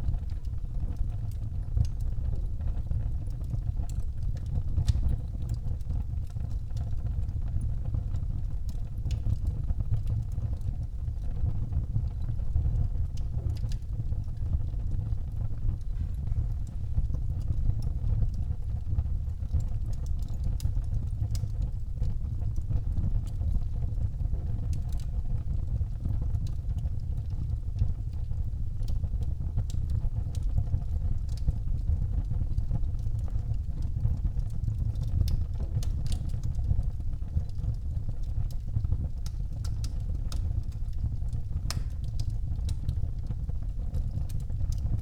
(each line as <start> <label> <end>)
0.0 iron furnace at work 45.0